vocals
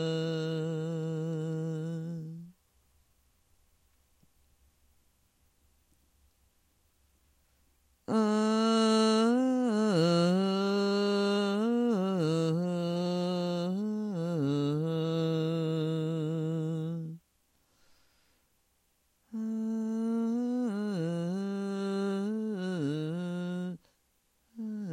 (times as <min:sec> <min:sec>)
0:00.0 0:02.6, 0:08.0 0:17.3, 0:19.2 0:24.9